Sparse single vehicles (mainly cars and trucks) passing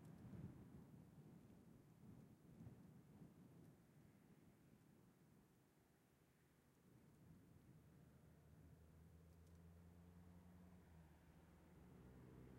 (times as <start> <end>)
7.2 12.5